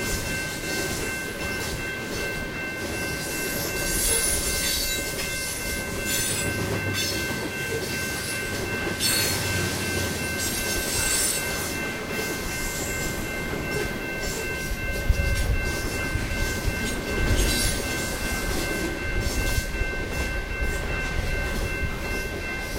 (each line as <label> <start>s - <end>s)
crossing alarm 0.0s - 22.7s
freight train passing 0.0s - 22.7s